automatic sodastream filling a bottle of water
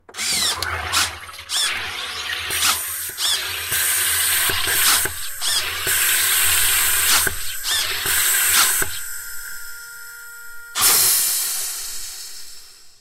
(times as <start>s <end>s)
0.1s 9.8s